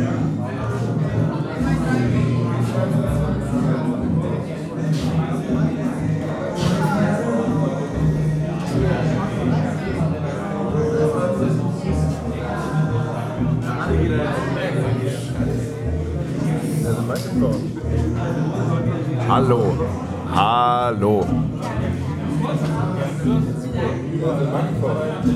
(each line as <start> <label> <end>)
0.0 bar people 25.3